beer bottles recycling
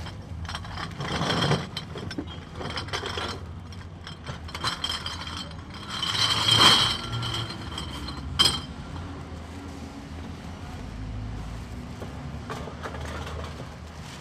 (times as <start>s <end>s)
0.0s 9.4s